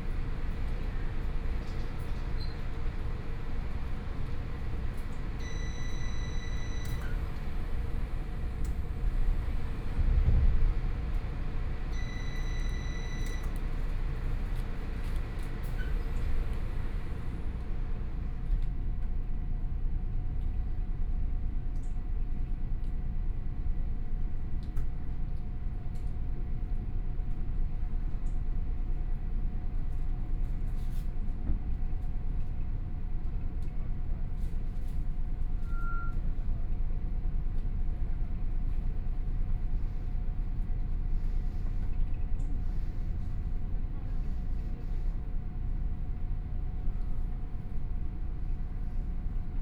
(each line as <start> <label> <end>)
0.0 Local Train 49.6